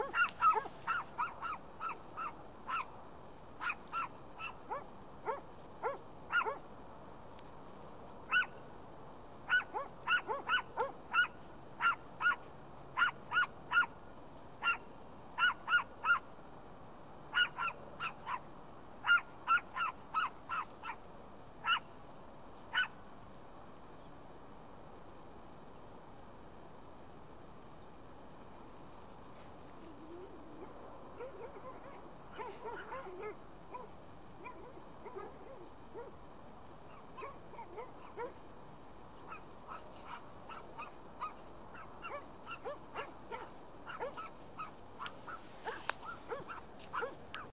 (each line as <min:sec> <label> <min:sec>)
0:00.0 dogs barking 0:03.0
0:03.6 dogs barking 0:06.6
0:09.5 dogs barking 0:12.4
0:19.0 dogs barking 0:21.9
0:31.2 dogs barking 0:36.2
0:36.9 dogs barking 0:38.4
0:39.3 dogs barking 0:47.5